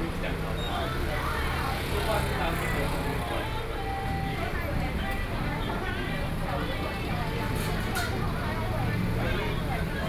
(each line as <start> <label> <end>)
0.0 Traffic Noise 10.0